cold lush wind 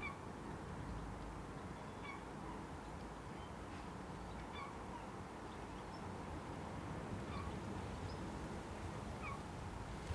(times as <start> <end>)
8.5 10.1